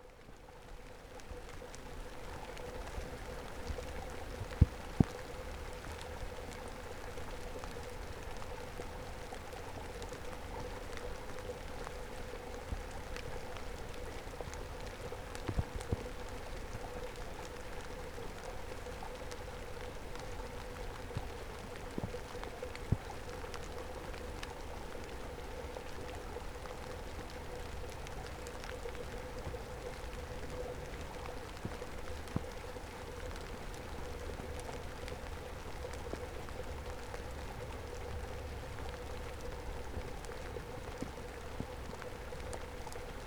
rain amongst reeds 0:00.0 - 0:43.2

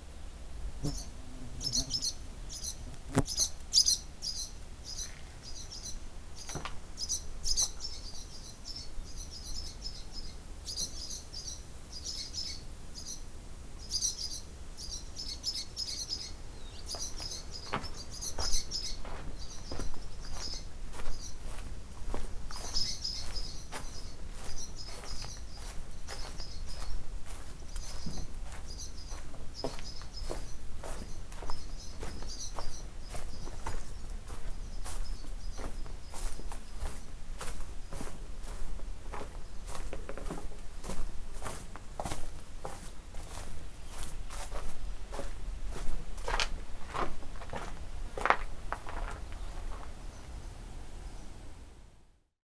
Barn swallows flying in and out 0:00.8 - 0:05.1

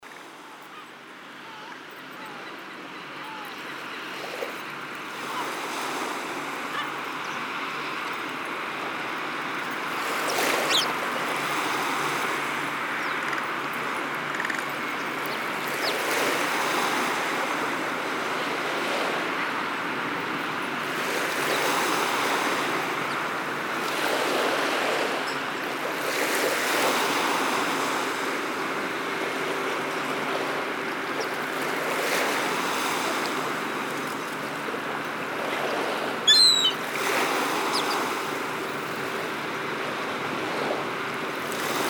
waves 0:00.0 - 0:41.8

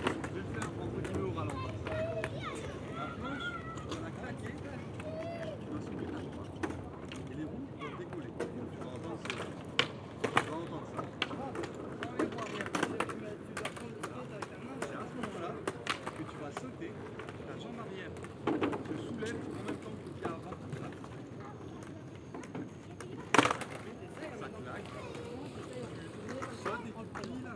young girls playing skateboards 0:00.0 - 0:27.5

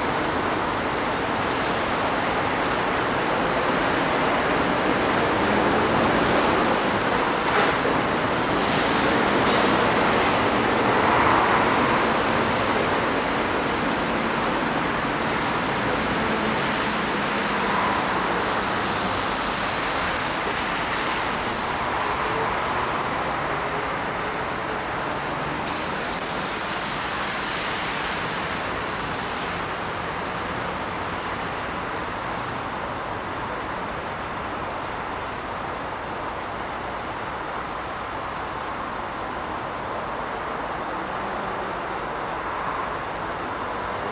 cars driving on wet asphalt 0:00.0 - 0:44.1

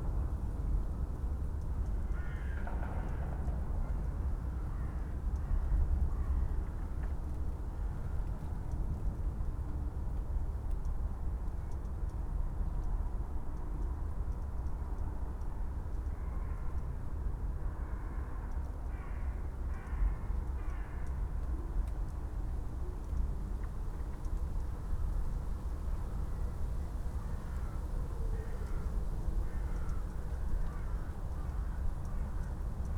crows 0:02.1 - 0:03.6
crows 0:17.7 - 0:21.2
crows 0:27.2 - 0:32.5

